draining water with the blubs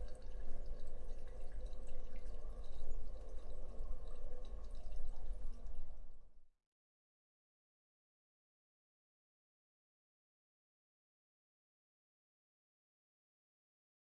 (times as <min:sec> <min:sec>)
0:00.0 0:06.4